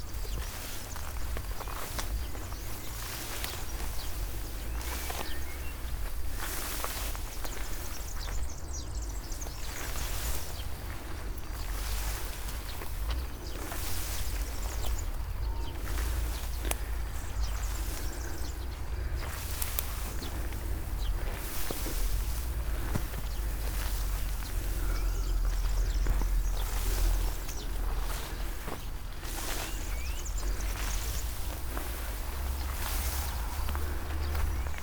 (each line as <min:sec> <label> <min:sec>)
0:00.0 uphill walk through high grass 0:34.8
0:24.4 breathing 0:25.7